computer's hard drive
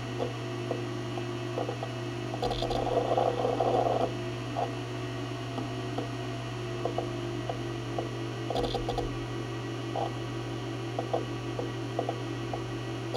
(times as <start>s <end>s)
0.1s 4.8s, 6.8s 9.3s, 11.0s 13.1s